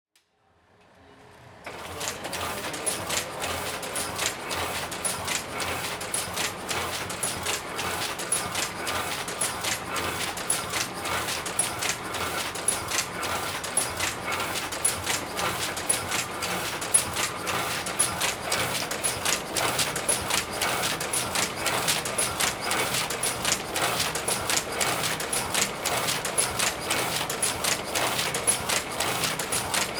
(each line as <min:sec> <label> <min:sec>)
0:01.7 printing machine in a percussion pattern 0:29.9